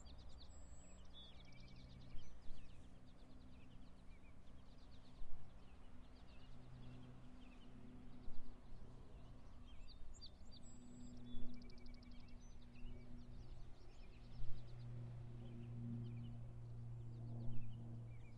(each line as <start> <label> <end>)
0.0 various birds 16.4
0.0 small plane flying overhead 18.3